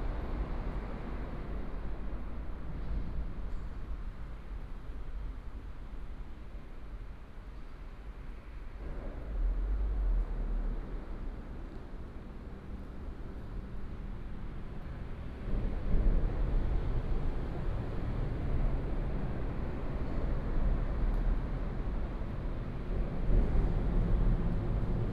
The train passes by 0.0 - 25.1
traffic sound 9.0 - 25.1

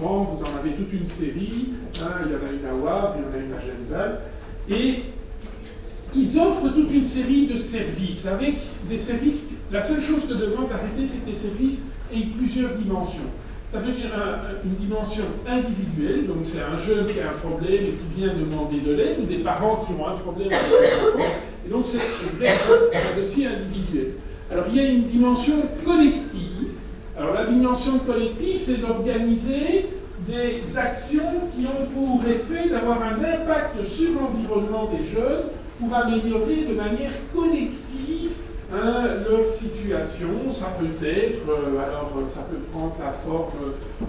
course of social matters 0.0 - 44.0

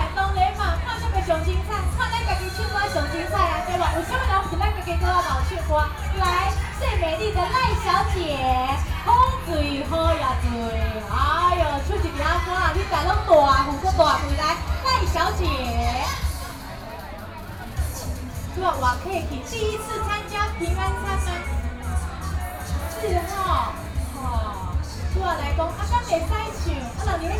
Community party 0.0 - 27.3

